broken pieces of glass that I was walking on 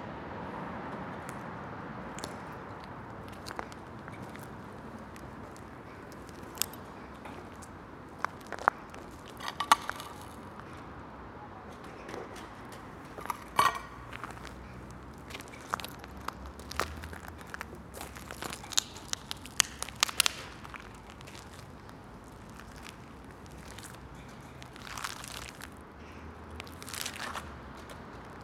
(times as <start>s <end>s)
2.2s 10.6s, 13.0s 25.8s